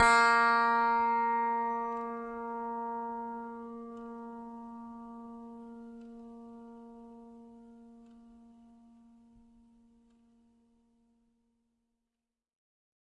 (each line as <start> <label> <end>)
0.0 piano strings played with a finger 7.5